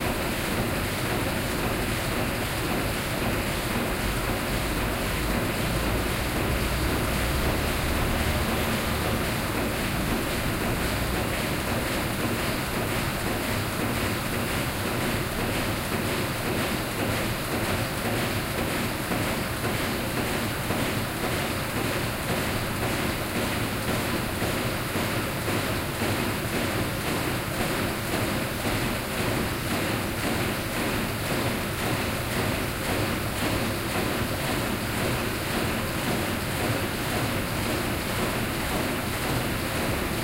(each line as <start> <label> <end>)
0.0 factory 40.2